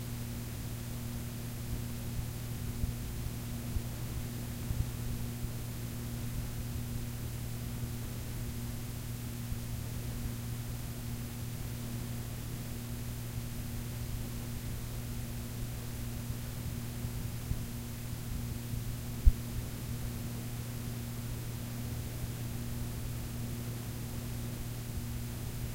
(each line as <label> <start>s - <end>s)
warm tape hiss from a cassette 0.0s - 25.7s